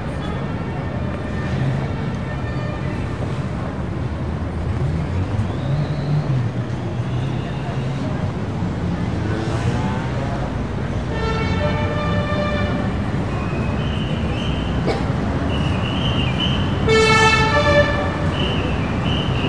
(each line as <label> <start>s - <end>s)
pedestrians 0.0s - 19.4s
traffic 0.0s - 19.4s